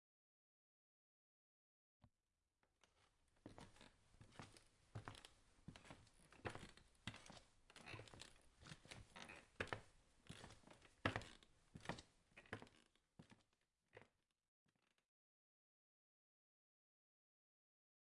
3.4s Walking on wooden floor 13.4s

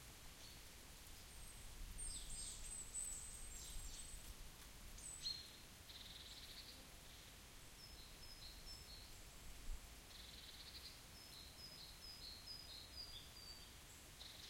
1.2s birds singing 4.2s

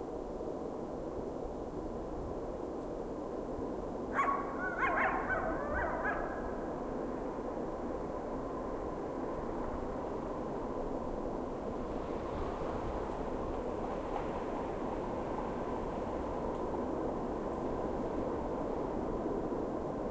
0.0s train 20.1s
4.1s single coyote howling at a train 6.8s

